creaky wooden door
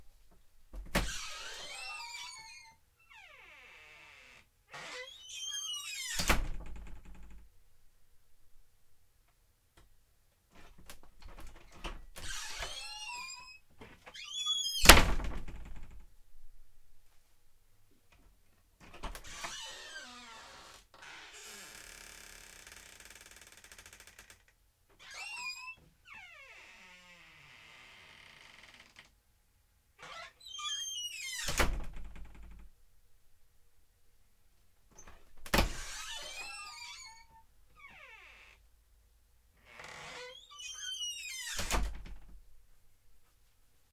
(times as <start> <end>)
0.8 7.5, 10.6 16.1, 18.8 29.2, 30.0 32.7, 35.0 38.7, 39.6 42.4